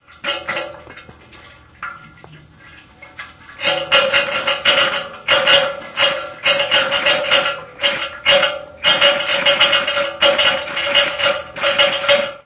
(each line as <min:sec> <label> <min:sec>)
0:00.0 sputtering water 0:12.4
0:00.2 radiator clanging 0:02.3
0:03.0 radiator clanging 0:12.4